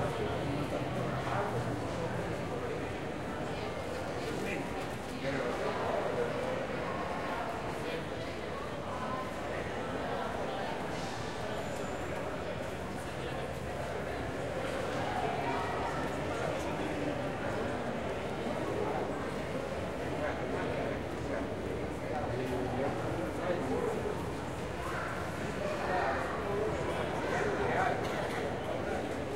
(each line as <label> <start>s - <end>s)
Bus 0.0s - 5.0s
People 0.0s - 29.3s
Bus 8.6s - 23.4s